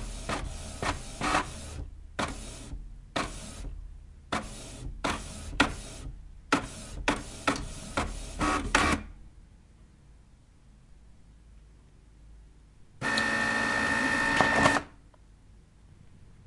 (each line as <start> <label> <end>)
0.0 printer doing it's thing 9.1
13.0 printer doing it's thing 15.0